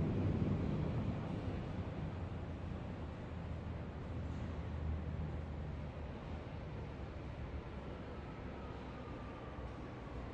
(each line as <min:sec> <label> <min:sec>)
0:00.0 Metro Station U8 Arrive Depart 0:10.3